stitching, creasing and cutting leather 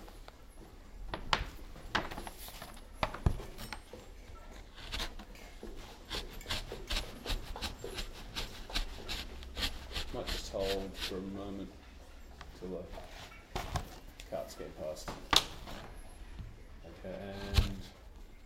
3.1 11.2, 17.2 17.9

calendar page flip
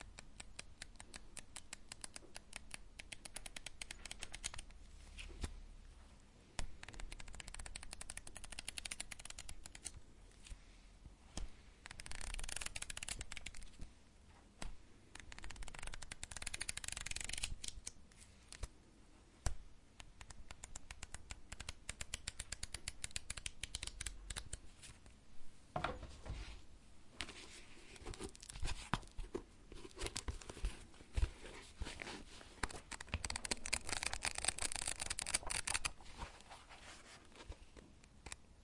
11.4 13.8, 27.2 38.4

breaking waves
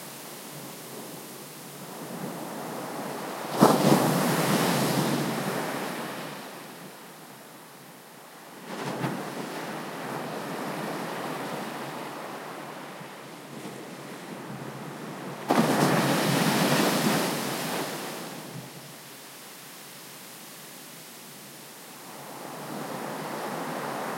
3.3 6.4, 15.5 18.6

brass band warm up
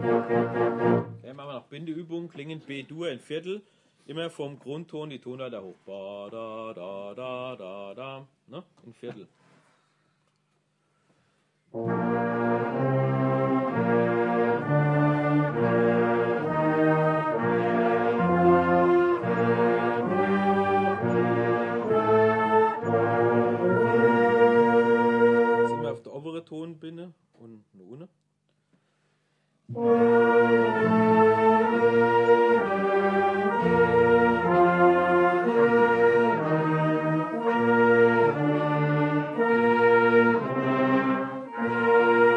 0.0 2.8, 10.9 26.0, 29.6 42.3

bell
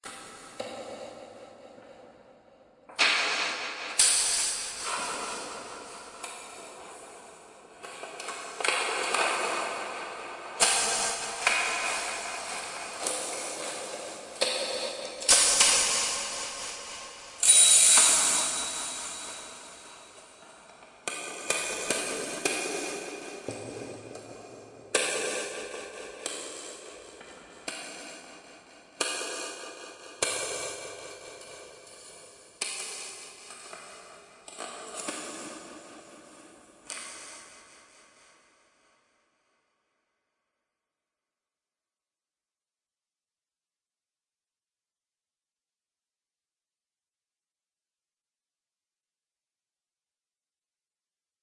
17.4 20.4

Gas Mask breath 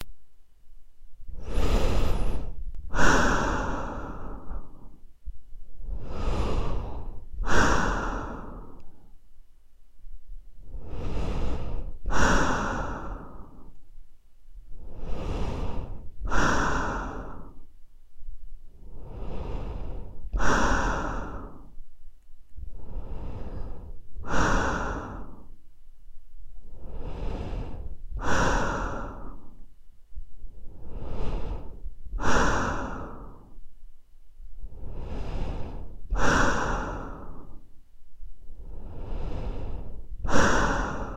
1.3 5.0, 5.8 9.2, 10.6 13.8, 14.7 17.7, 18.8 21.8, 22.6 25.6, 26.6 29.6, 30.5 33.6, 34.6 37.7, 38.5 41.1

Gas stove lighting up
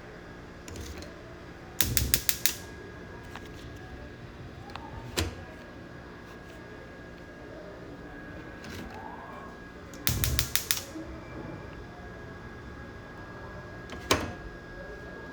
0.6 5.6, 8.6 13.2, 13.8 14.5

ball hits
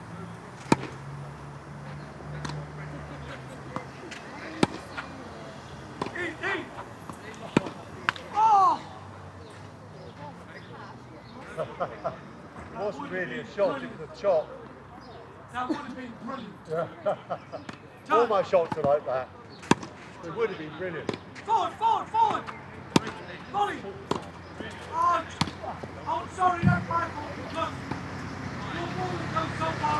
0.6 1.1, 3.6 8.5, 19.6 20.0, 22.2 23.4, 24.0 29.0

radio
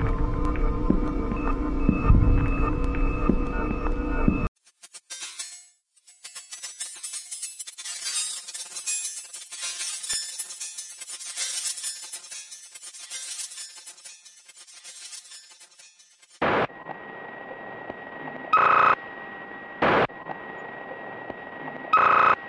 16.4 19.0, 19.8 22.4

